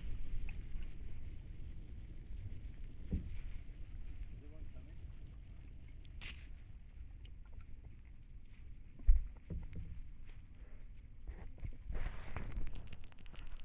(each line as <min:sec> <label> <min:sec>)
0:00.0 dripping 0:10.2